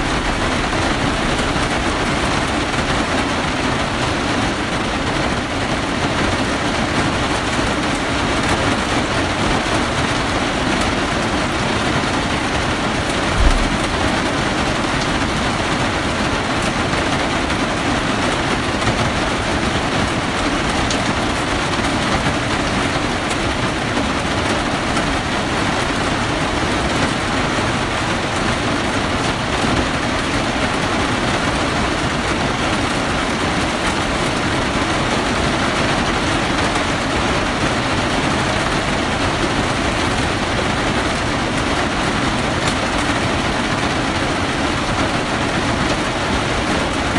constant rain 0:00.0 - 0:47.1

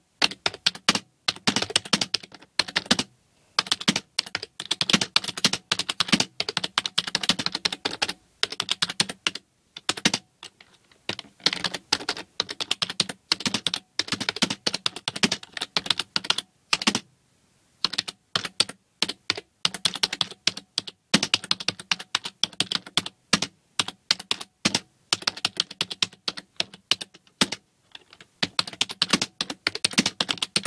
Typing on a Dell computer keyboard 0:00.2 - 0:17.1
Typing on a Dell computer keyboard 0:17.8 - 0:30.6

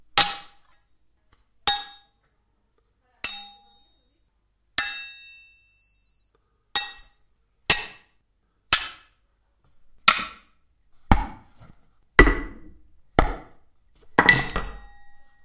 sword 0:00.2 - 0:00.9
sword 0:06.8 - 0:08.1
sword 0:08.7 - 0:09.2

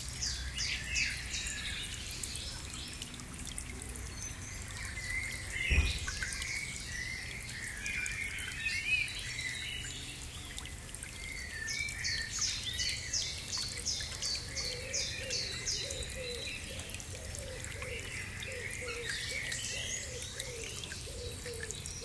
Small Creek 0:00.0 - 0:22.0
lots of birds 0:04.6 - 0:09.6

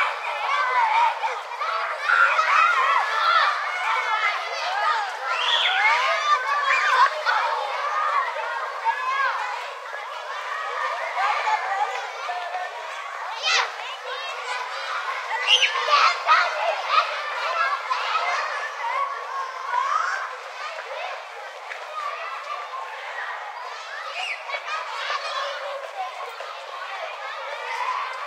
children playing 0:00.0 - 0:28.2

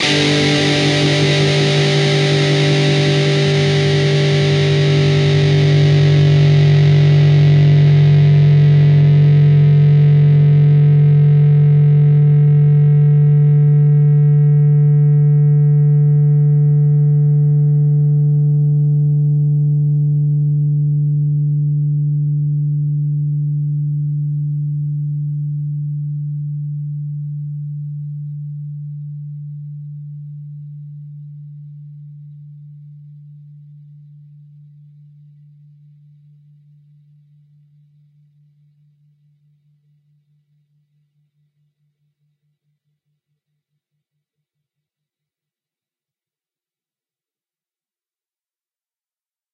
distorted guitar 0:00.0 - 0:23.5

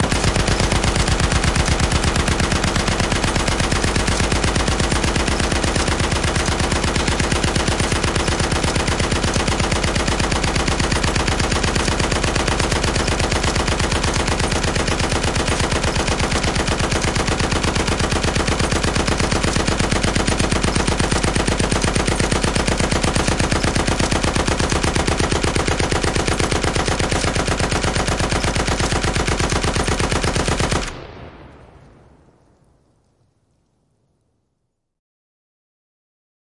gunshot 0:00.0 - 0:33.1

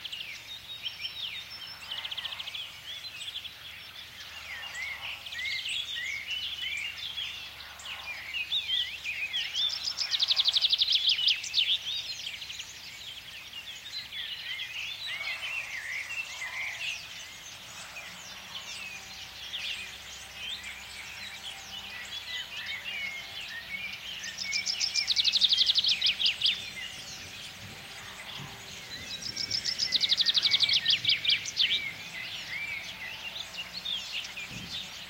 birds singing 0:00.0 - 0:35.0
motors (tractors) in background 0:00.0 - 0:35.0

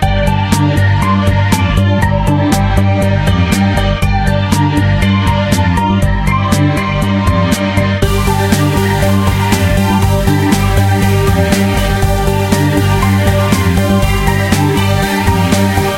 music 0:00.0 - 0:15.9

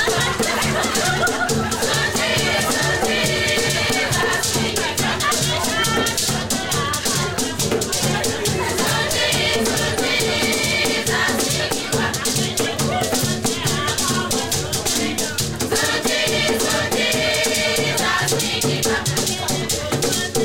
African singing 0:00.0 - 0:20.4

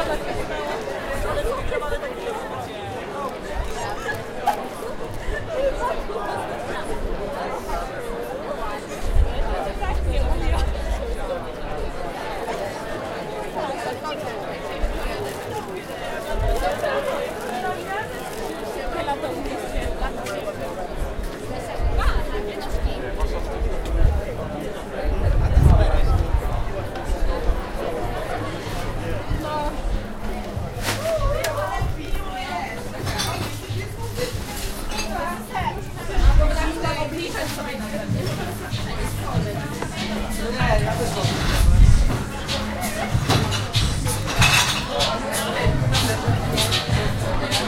talking people 0:00.0 - 0:47.6

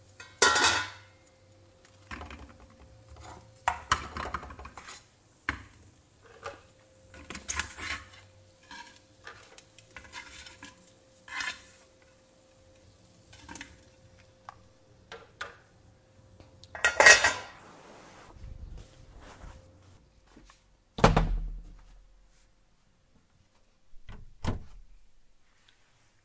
cooking 0:00.0 - 0:18.3
pots 0:00.0 - 0:15.7
pots 0:16.4 - 0:17.8

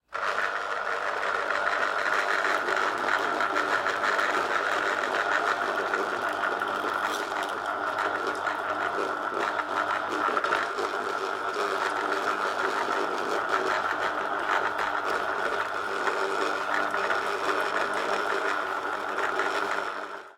Squeezer Braun sound 0:00.0 - 0:20.2

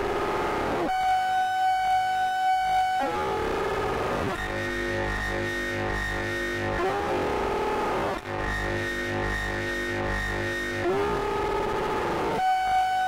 Drone 0:00.0 - 0:13.0

